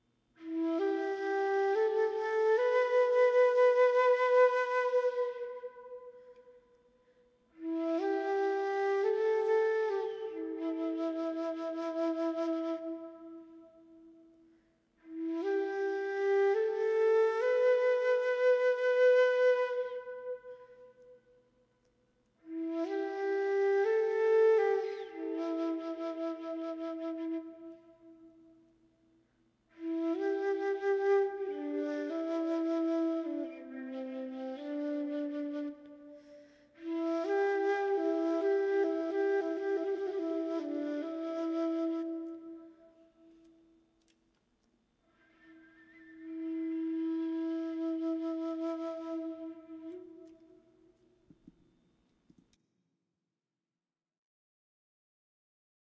flute clip 0.4 - 6.8
flute clip 7.5 - 14.2
flute clip 15.0 - 21.3
flute clip 22.4 - 28.5
flute clip 29.7 - 43.8
flute clip 45.1 - 51.6

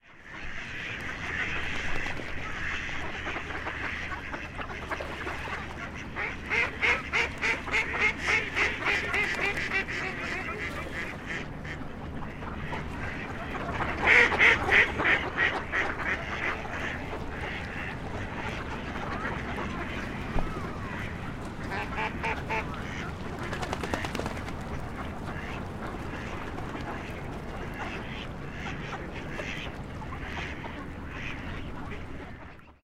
ducks 0.0 - 32.8

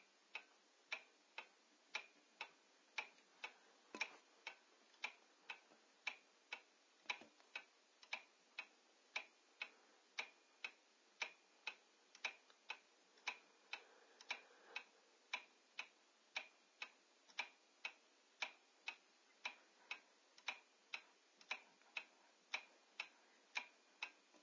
Clock Ticking 0.0 - 24.4

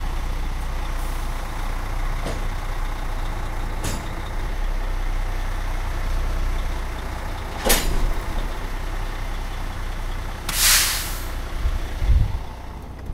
tractor connecting to trailer with air brk 0.3 - 4.8
tractor connecting to trailer with air brk 6.5 - 13.1
air brake 10.5 - 11.4

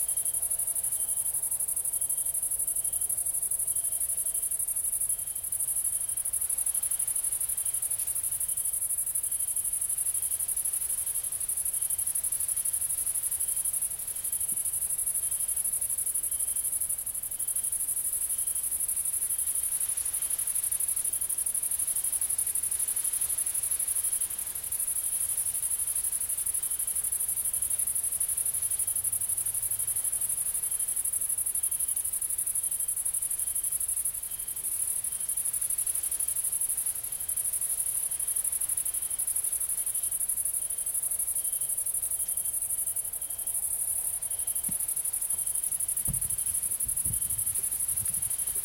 cicades 0.0 - 48.6
crickets 0.0 - 48.6
wind 0.0 - 48.6

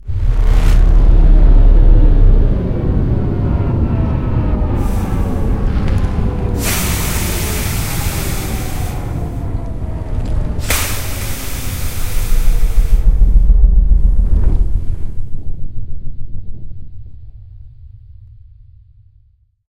Powerdown (Big Machine) 4.0 - 9.8
Powerdown (Big Machine) 10.5 - 14.7

